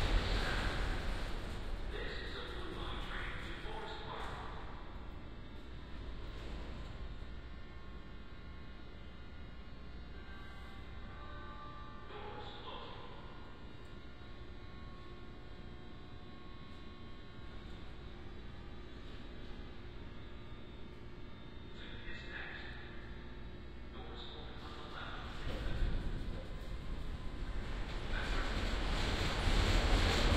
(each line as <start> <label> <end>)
0.0 subway train going by from right to left 2.8
24.4 subway train going by from right to left 30.3